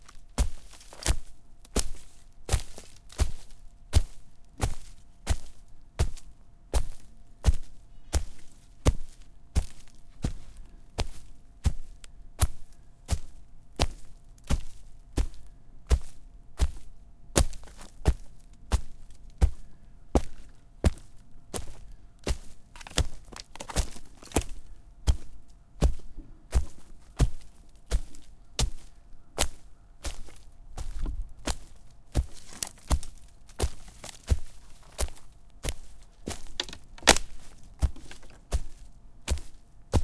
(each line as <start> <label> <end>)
0.0 rustling leaves 11.2
26.8 rustling leaves 40.0
36.2 Breaking snapping twigs 38.4
36.3 stomps 38.4